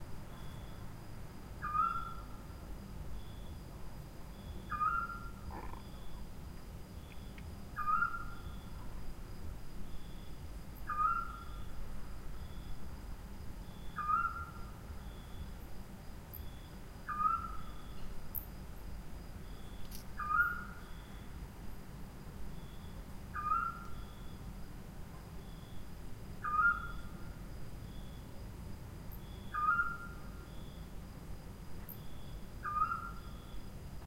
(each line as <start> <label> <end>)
1.6 screech owl 2.3
4.6 screech owl 6.2
7.8 screech owl 8.6
10.9 screech owl 11.7
13.9 screech owl 14.7
17.1 screech owl 18.0
20.2 screech owl 21.2
23.3 screech owl 24.3
26.4 screech owl 27.2
29.4 screech owl 30.4
32.6 screech owl 33.6